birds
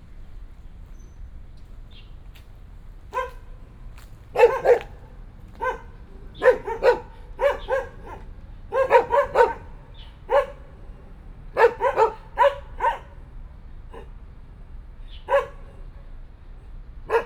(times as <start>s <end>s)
0.0s 10.6s